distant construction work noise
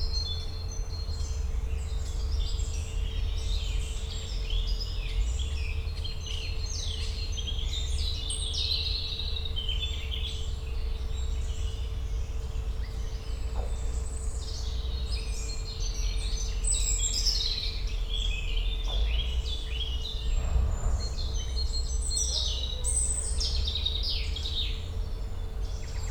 0:18.9 0:24.5

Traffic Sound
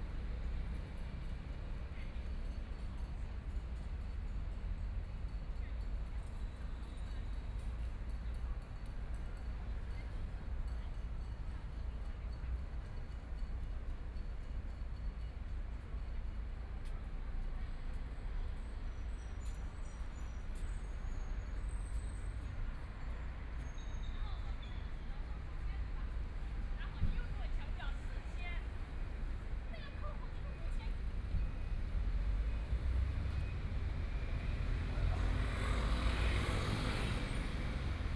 0:16.5 0:38.1

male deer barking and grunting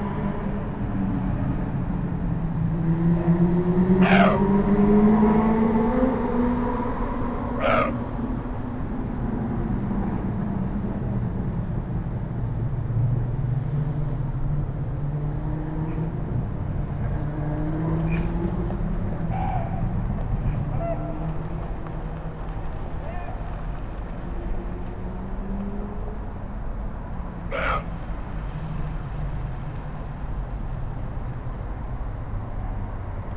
0:04.0 0:04.8, 0:07.1 0:08.2, 0:19.0 0:21.5, 0:23.0 0:23.5, 0:27.4 0:28.2

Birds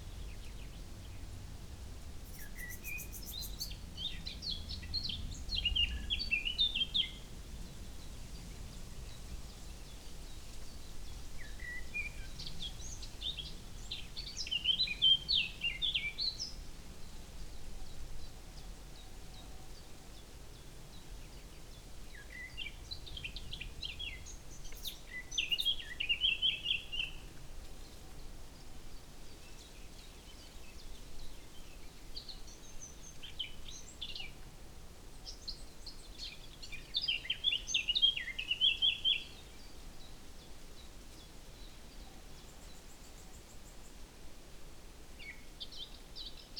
0:02.2 0:07.1, 0:17.5 0:34.4

